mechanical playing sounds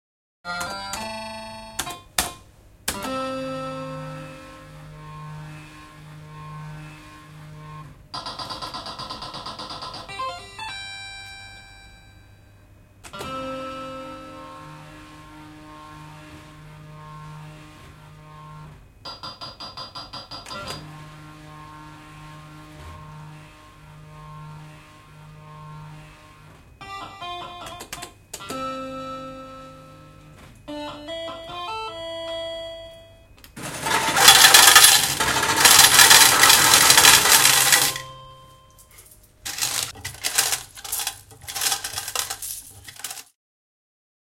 0:33.6 0:38.4, 0:39.4 0:43.3

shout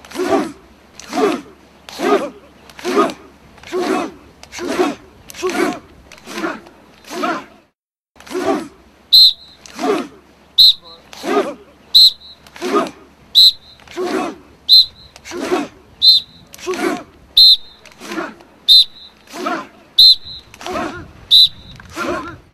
0:00.1 0:07.6, 0:08.3 0:08.8, 0:09.7 0:10.2, 0:11.2 0:11.7, 0:12.6 0:13.0, 0:16.6 0:17.1, 0:19.3 0:19.8, 0:20.6 0:21.2, 0:21.9 0:22.5

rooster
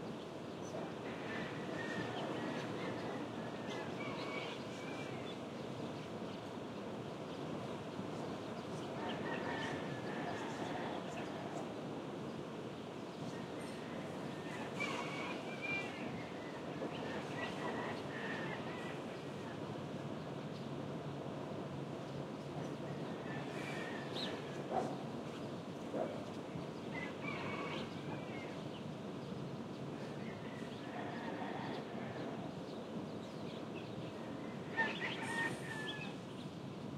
0:09.0 0:11.3, 0:13.6 0:16.0, 0:26.9 0:28.6, 0:34.4 0:36.2

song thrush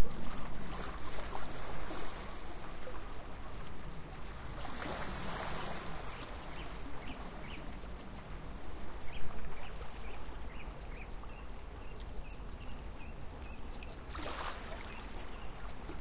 0:06.0 0:16.0

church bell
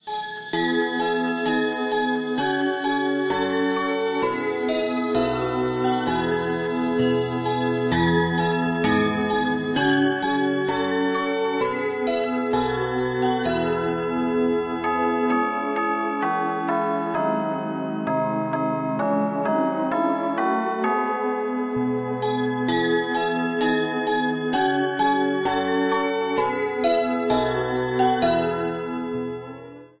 0:00.5 0:19.0

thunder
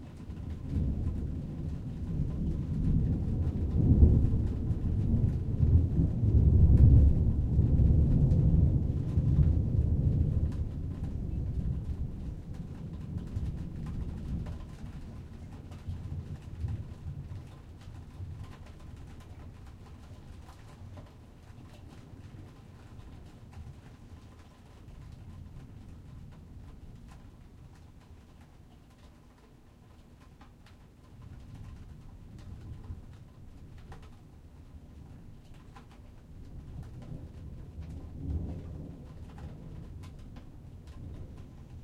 0:00.2 0:20.0, 0:35.9 0:41.8

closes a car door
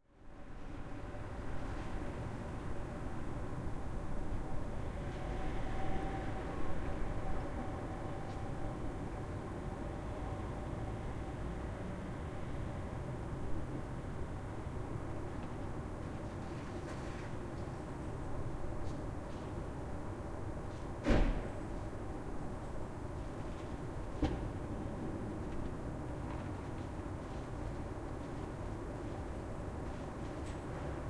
0:21.0 0:21.6

